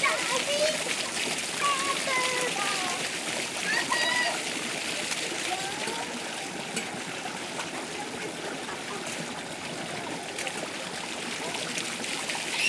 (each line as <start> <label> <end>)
0.0 Children loudly playing into the fountains 12.6